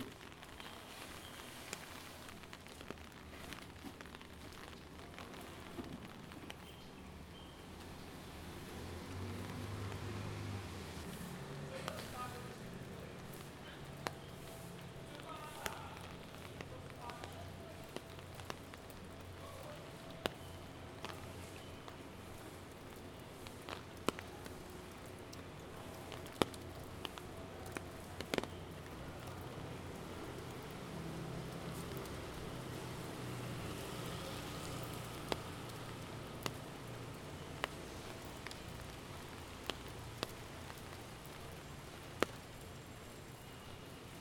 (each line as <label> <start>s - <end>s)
Rain 0.0s - 44.2s
Road sweeper worker cleaning city side walk with broom 0.0s - 44.2s